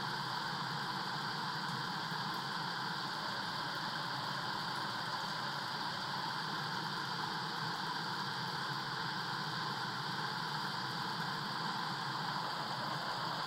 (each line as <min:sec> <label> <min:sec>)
0:00.0 water flowing from a pipe 0:13.4